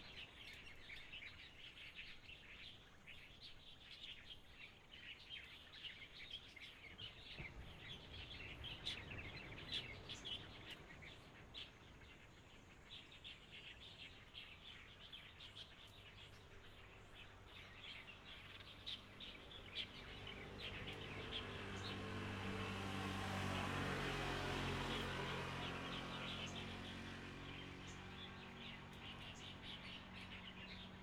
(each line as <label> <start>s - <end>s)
Birds singing 0.0s - 31.0s
Traffic Sound 18.3s - 31.0s